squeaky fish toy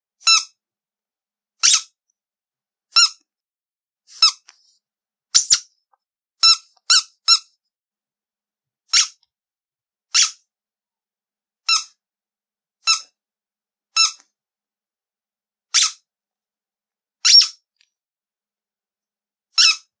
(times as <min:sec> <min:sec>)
0:00.2 0:00.6, 0:01.6 0:02.0, 0:02.9 0:03.2, 0:04.1 0:04.5, 0:05.3 0:05.7, 0:06.4 0:07.6, 0:08.9 0:09.2, 0:10.1 0:10.4, 0:11.6 0:12.0, 0:12.8 0:13.2, 0:14.0 0:14.2, 0:15.7 0:16.0, 0:17.2 0:17.7, 0:19.5 0:20.0